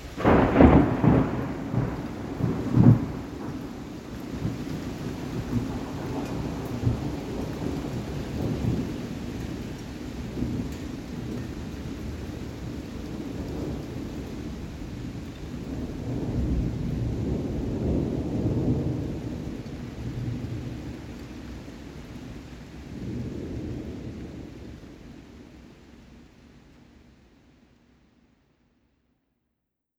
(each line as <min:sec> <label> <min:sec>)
0:00.0 rippling thunderclap and booming rumble 0:25.3